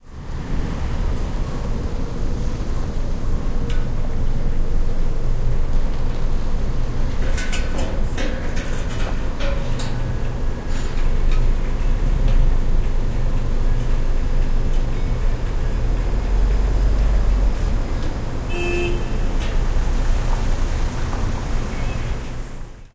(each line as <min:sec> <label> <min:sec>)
0:00.0 Construction 0:22.9
0:00.0 traffic in small street 0:22.9
0:18.5 horn 0:19.3